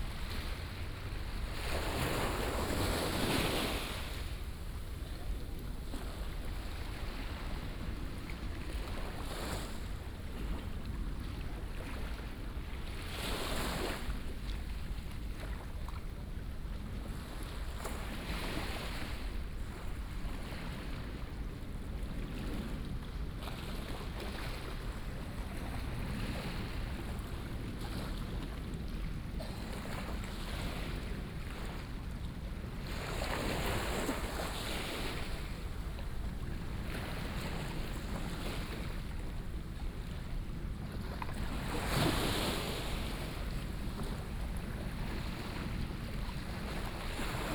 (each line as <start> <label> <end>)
0.0 waves 47.5